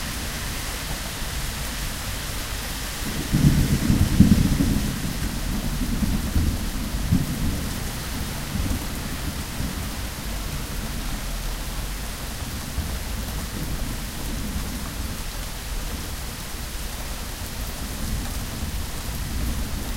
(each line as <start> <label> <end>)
0.0 traffic splashes 3.4
0.0 Rain 19.9
3.0 thunder distant 10.8